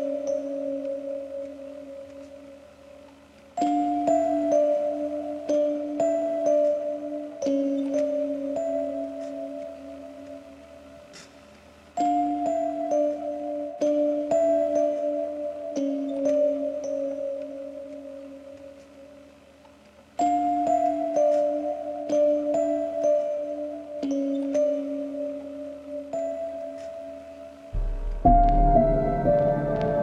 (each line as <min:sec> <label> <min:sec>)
0:20.2 piano 0:30.0